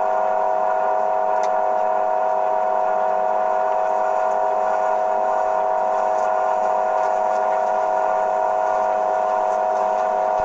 internal noises of a parking meter 0:01.2 - 0:01.8

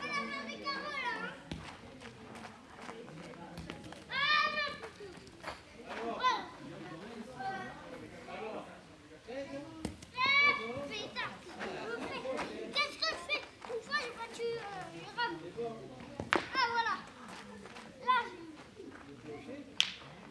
Two boys playing Petanque 0:00.0 - 0:20.3

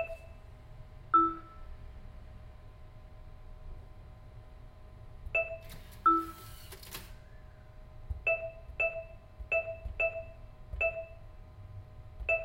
cash machine 0:05.4 - 0:07.2

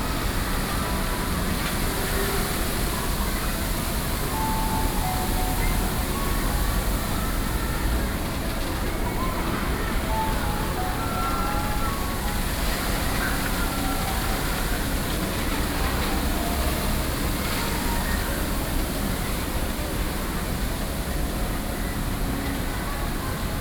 School broadcasting 0:02.9 - 0:20.0

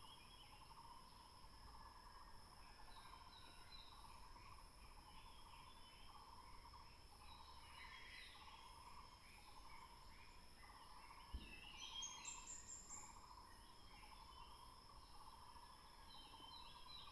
Birds singing 0:07.2 - 0:14.6

